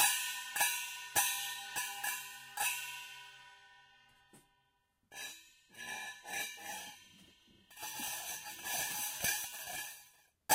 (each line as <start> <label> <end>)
0.0 small hand cymbals 4.4
5.1 small hand cymbals 10.5